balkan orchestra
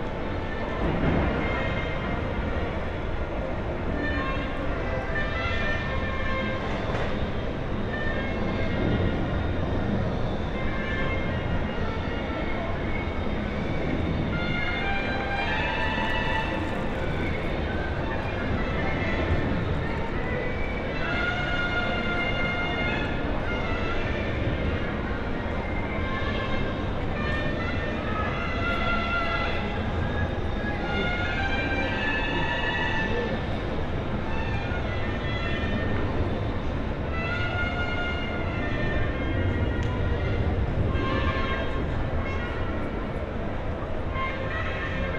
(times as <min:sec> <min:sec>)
0:10.3 0:45.1